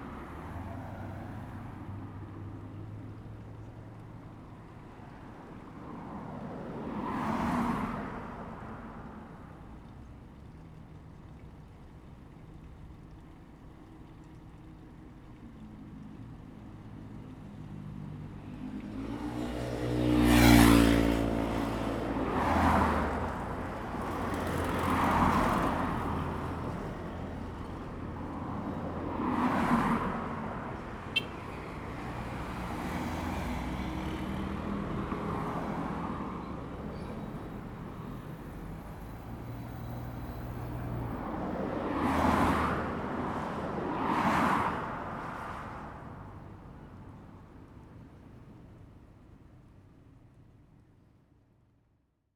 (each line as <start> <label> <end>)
17.7 Traffic Sound 50.9